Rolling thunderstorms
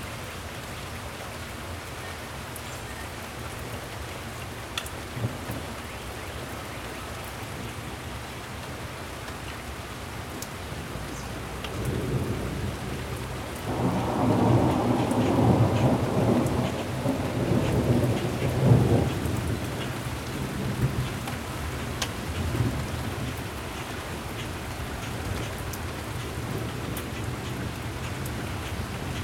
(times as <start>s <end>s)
11.5s 29.2s